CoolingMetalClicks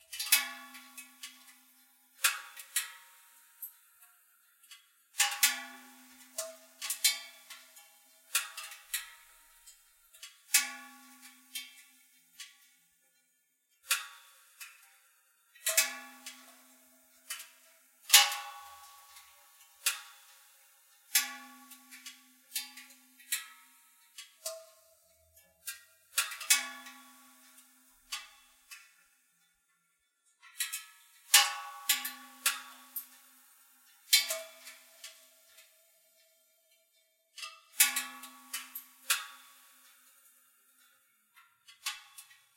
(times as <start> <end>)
15.5 28.9, 30.5 36.4, 37.4 40.9